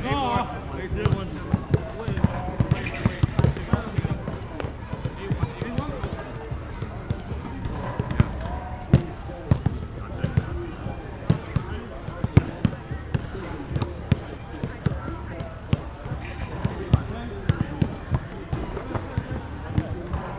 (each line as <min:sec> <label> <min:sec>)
0:00.0 playing basketball 0:20.3